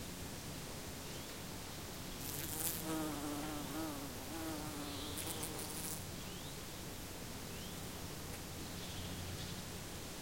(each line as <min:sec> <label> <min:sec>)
0:02.2 Bees and bumblebees are buzzing 0:06.0